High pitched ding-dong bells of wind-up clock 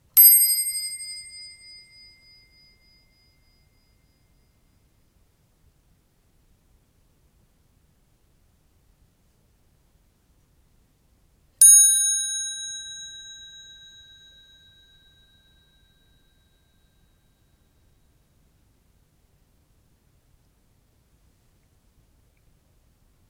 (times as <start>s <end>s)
0.2s 4.2s, 11.6s 15.4s